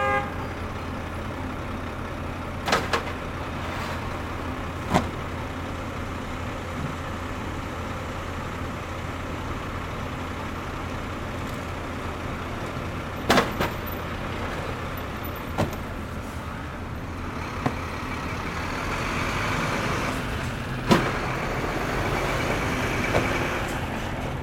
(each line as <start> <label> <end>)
2.6 unloading cases of beverages from a truck 5.4
12.6 unloading cases of beverages from a truck 16.6